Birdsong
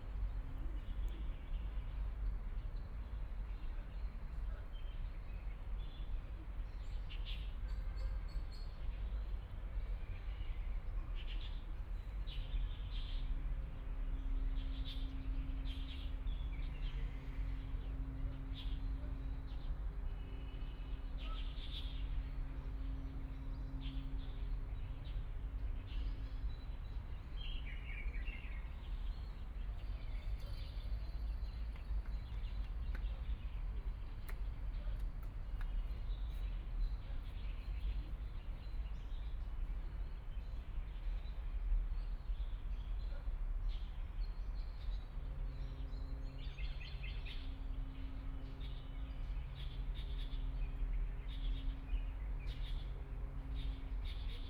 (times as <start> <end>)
14.6 54.4